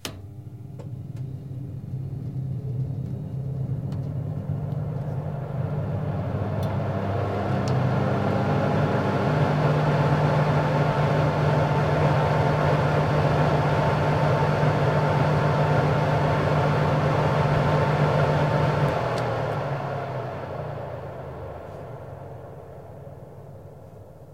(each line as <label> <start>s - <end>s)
Oven 0.0s - 24.3s